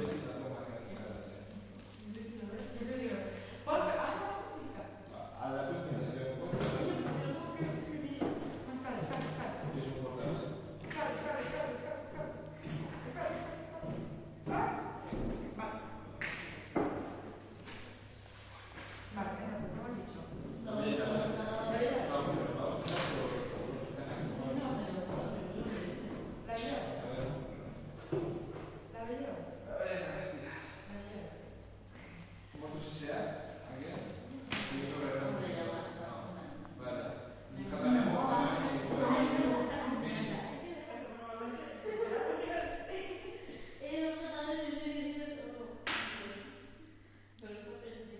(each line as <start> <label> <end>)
5.1 Guys speaking and laughing 7.9
10.9 people walking 15.6
41.6 Guys speaking and laughing 43.9